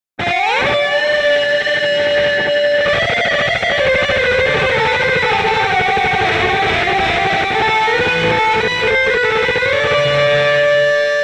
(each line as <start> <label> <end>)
0.2 guitar solo 11.2